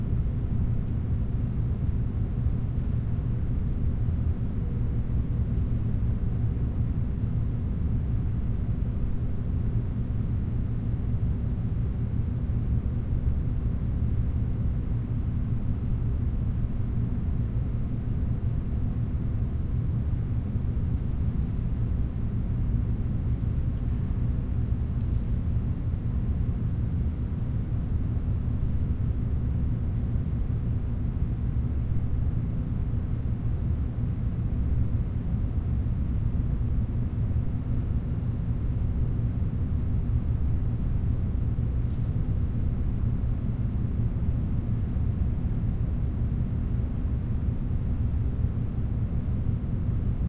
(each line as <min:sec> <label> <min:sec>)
0:00.0 room tone large empty bass hum rumble 0:50.2